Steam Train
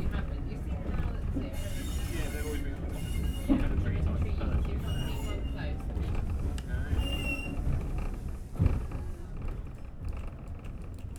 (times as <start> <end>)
1.2 9.7